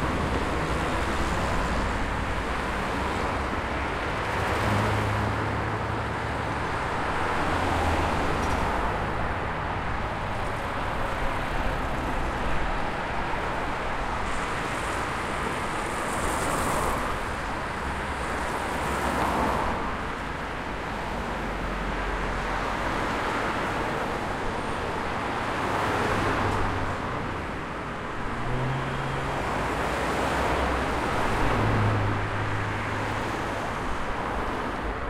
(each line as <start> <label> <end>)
0.0 Cars traffic 35.0